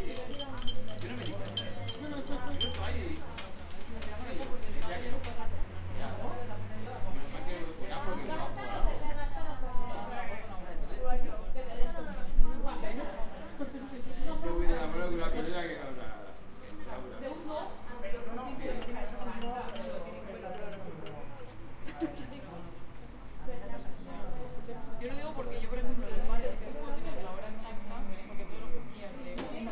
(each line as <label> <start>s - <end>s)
cups 0.0s - 3.3s
dialogs in Castillia 0.0s - 29.7s